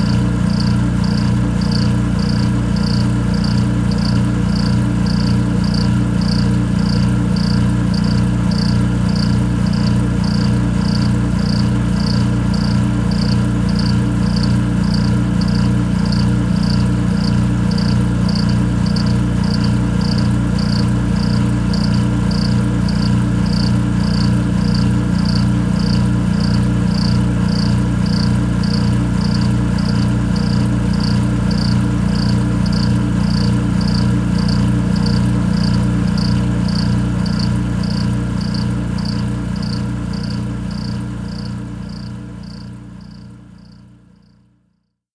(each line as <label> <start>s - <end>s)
air compressor 0.0s - 43.8s